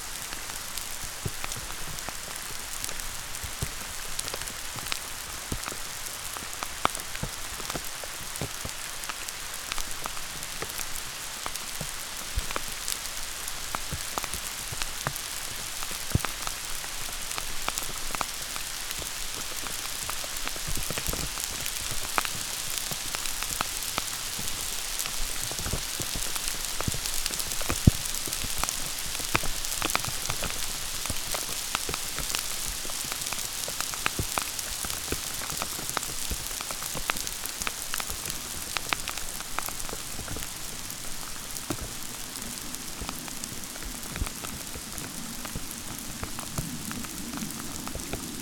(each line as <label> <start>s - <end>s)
Hail shower on a frozen lake 0.0s - 48.4s